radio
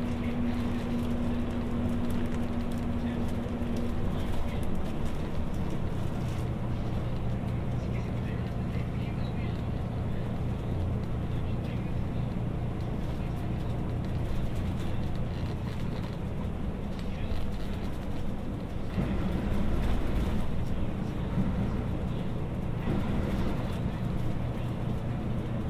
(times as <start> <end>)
6.8 16.0